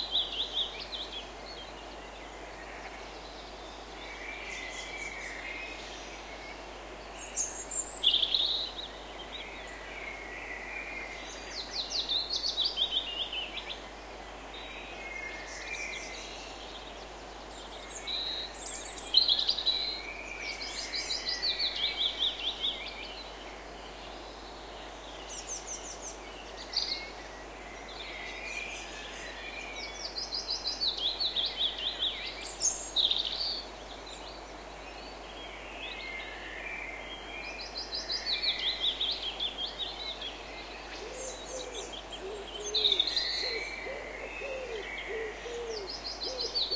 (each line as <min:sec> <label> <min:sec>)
0:14.5 birdsong 0:46.7